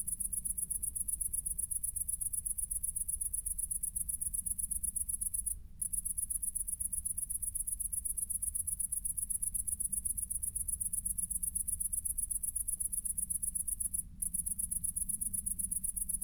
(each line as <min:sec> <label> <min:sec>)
0:00.0 lonely cricket 0:16.2